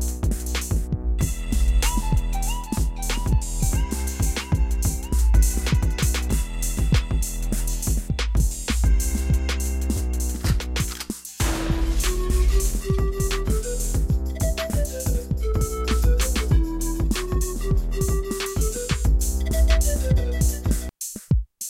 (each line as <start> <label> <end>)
0.2 beats 21.6
1.2 flutey-loops 8.0
11.4 flutey-loops 20.9